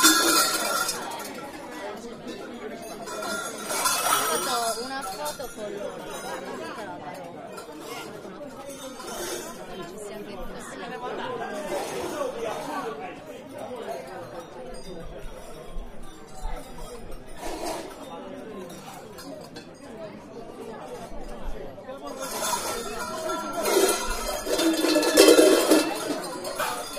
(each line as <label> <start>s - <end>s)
bells 0.0s - 1.4s
voices 0.0s - 15.7s
bells 2.6s - 6.4s
voices 16.3s - 26.9s
bells 22.1s - 26.9s